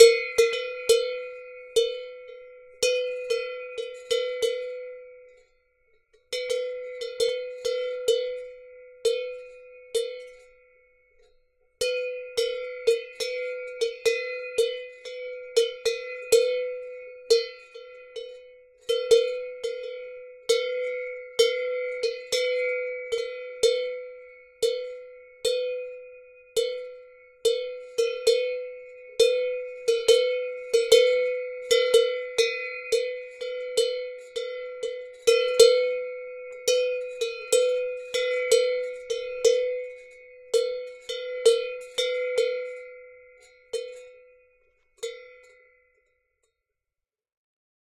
cow bell 0.0 - 46.6

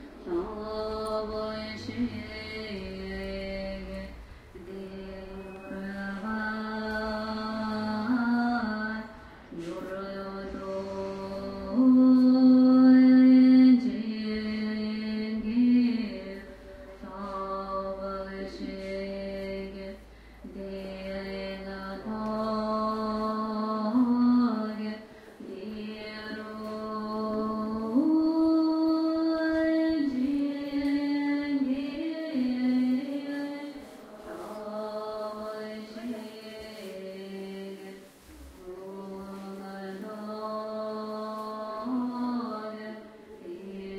female group chant 38.6 - 43.9

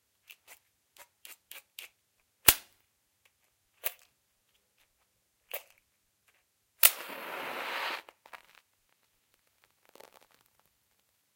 lightning of a match 6.8 - 8.6

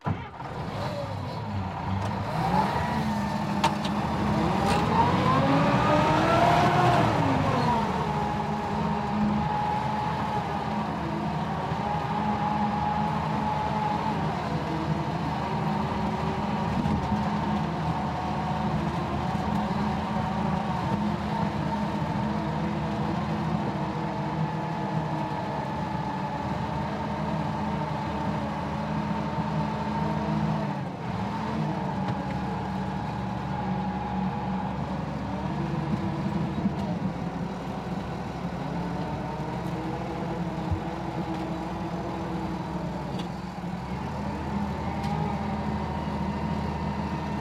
tractor on landfill 0.0 - 47.4

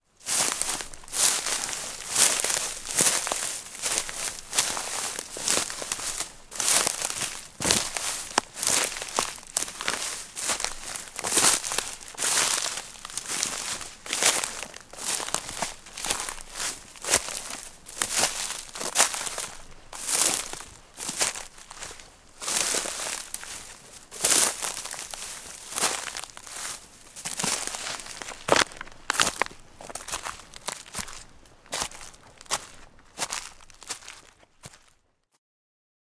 Footsteps Walking Boot Dry Leaves-Fern-Crunch 0.1 - 35.1

